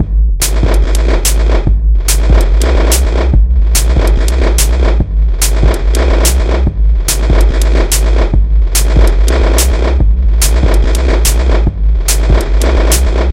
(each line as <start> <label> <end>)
0.0 rhythm 13.3